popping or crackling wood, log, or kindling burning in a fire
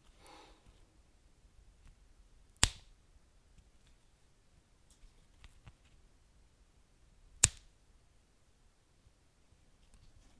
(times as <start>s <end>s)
2.6s 2.8s